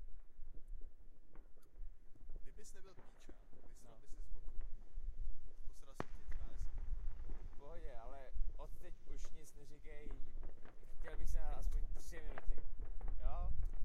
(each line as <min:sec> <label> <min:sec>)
0:00.5 firework (from distance) 0:13.8